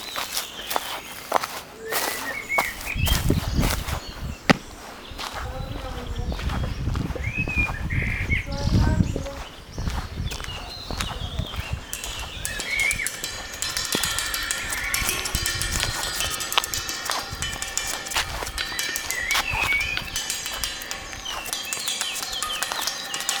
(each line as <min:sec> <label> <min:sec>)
0:00.0 Walking through the public park 0:23.4
0:00.0 park life 0:23.4
0:11.4 Metal railing 0:23.4